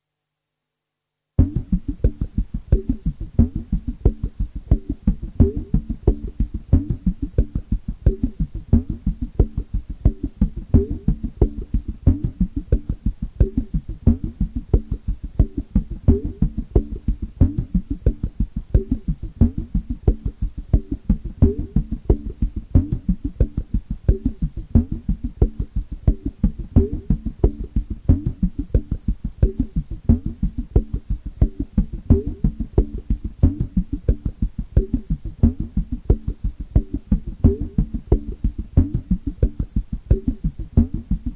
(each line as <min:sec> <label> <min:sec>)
0:01.4 bass 0:41.3